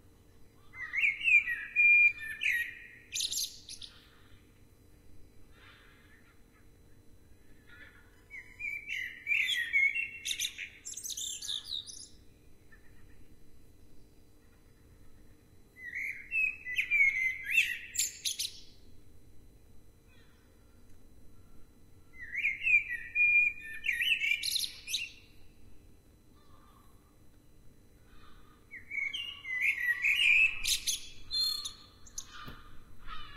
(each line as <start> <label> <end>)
0.5 birdsong 4.5
7.5 birdsong 15.2
15.8 birdsong 18.8
22.1 birdsong 25.5
28.1 birdsong 33.3